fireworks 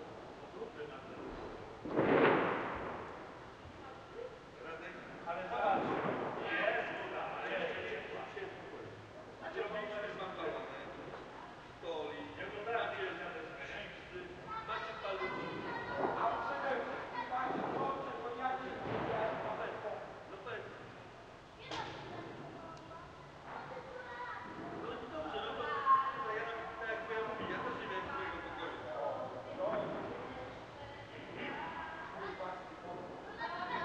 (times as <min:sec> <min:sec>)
0:01.2 0:03.2, 0:05.7 0:06.5, 0:17.5 0:18.0